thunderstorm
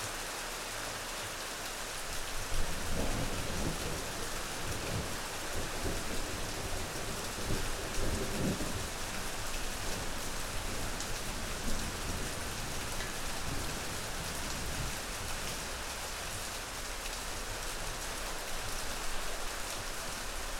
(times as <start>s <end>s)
2.5s 15.1s